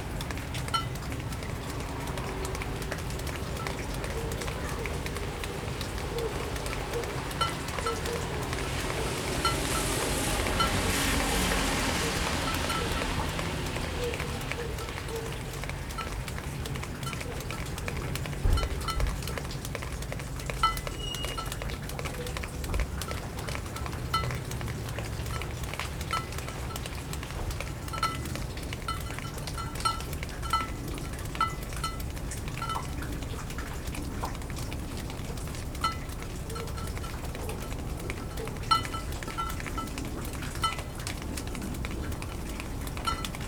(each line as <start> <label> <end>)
0.0 dripping into a large puddle near a rain gutter 43.4
0.0 water also hits a metal container 43.4
0.0 water dripping from the roof of the apartment 43.4